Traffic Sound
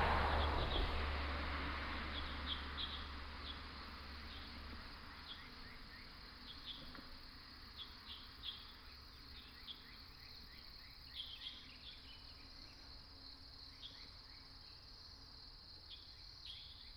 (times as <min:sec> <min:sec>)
0:00.0 0:05.1